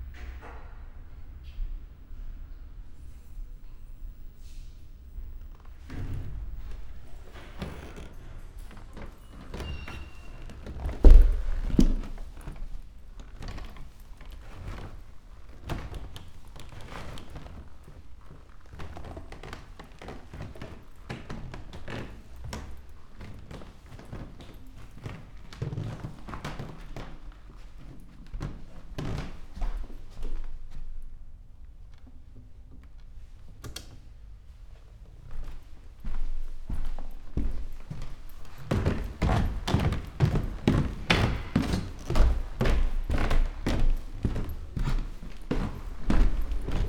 wooden staircase 0:06.6 - 0:30.2
walking 0:07.3 - 0:18.4
walking 0:35.3 - 0:46.8
wooden staircase 0:35.3 - 0:46.8

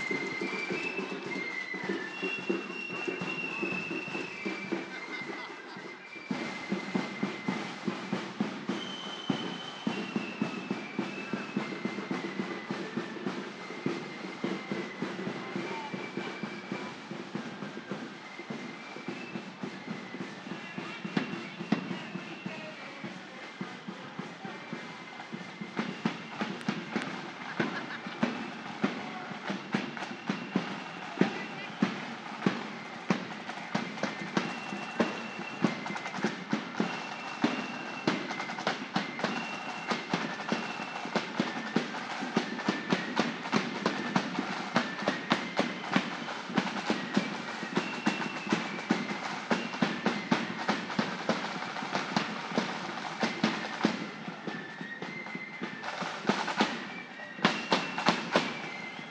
children play their own drum kits 0:00.0 - 0:59.1
groups of people 0:00.0 - 0:59.1
marching bands 0:00.0 - 0:59.1
whistles 0:00.0 - 0:59.1

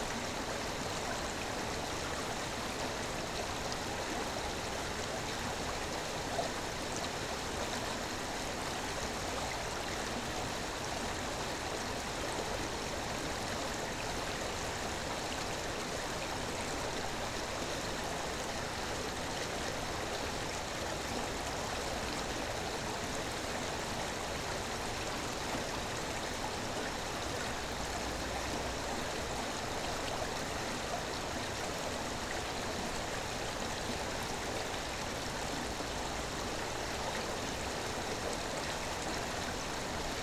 small river Viesa under the bridge 0:00.0 - 0:40.2

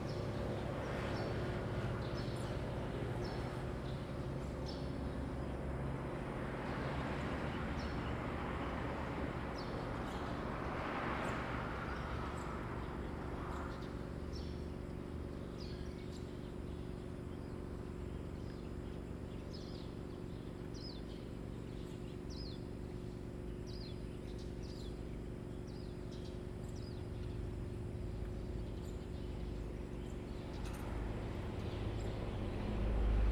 Traffic Sound 0:05.0 - 0:15.2
Traffic Sound 0:30.4 - 0:33.3

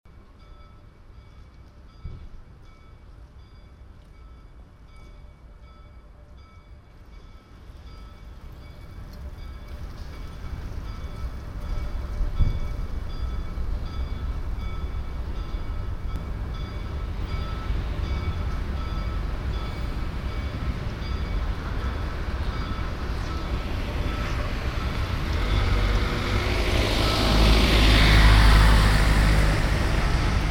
traffic 0:00.1 - 0:30.5
cloister bells vanishing in the street traffic 0:02.0 - 0:30.5

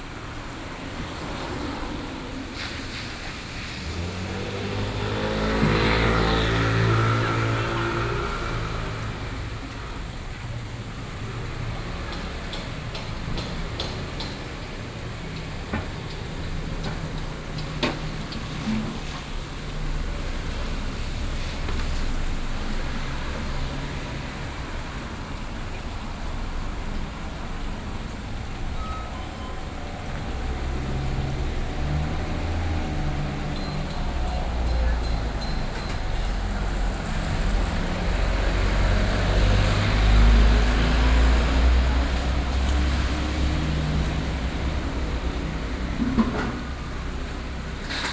Traffic Sound 0:00.0 - 0:48.1

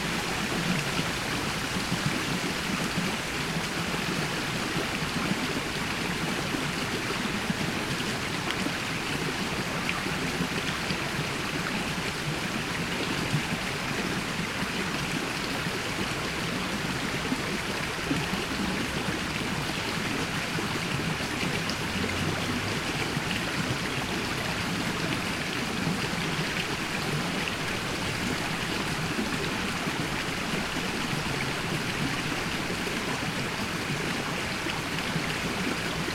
little river running into the biggest lithuanian river 0:00.0 - 0:36.1

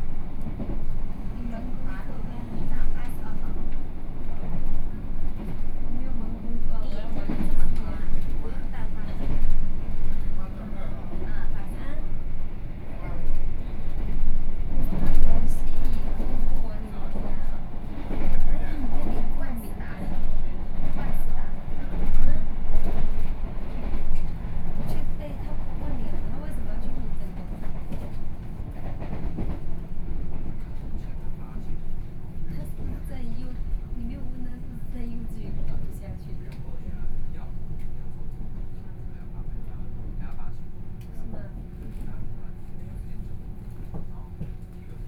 Local Express 0:00.0 - 0:14.0

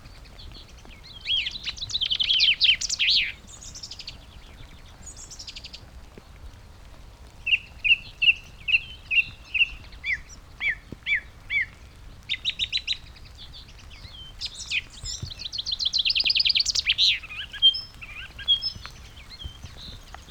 song thrush 0:00.0 - 0:05.8
pheasant 0:00.0 - 0:06.0
rain 0:00.0 - 0:20.3
red-legged partridge 0:00.0 - 0:20.3
song thrush 0:07.4 - 0:20.3
pheasant 0:07.4 - 0:20.3
skylark 0:07.5 - 0:20.3

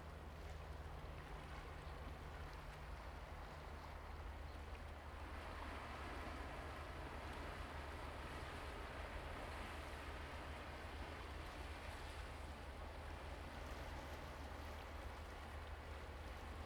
waves 0:00.0 - 0:16.6

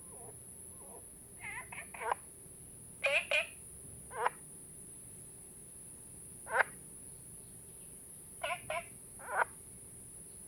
Frogs chirping 0:08.4 - 0:09.6

